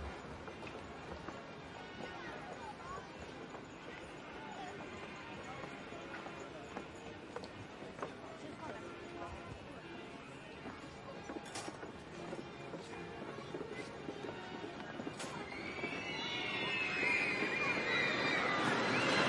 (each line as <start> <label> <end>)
15.0 roller coaster 19.2